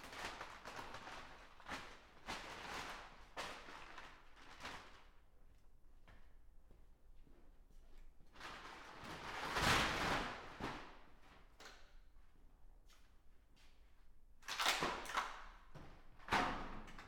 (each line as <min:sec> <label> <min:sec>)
0:00.0 Floor protection from PVC Material is rolled up 0:05.7
0:08.2 Floor protection from PVC Material is rolled up 0:12.0
0:14.4 parts made of wooden bars are dismantled 0:15.4
0:14.4 Floor protection from PVC Material is rolled up 0:17.0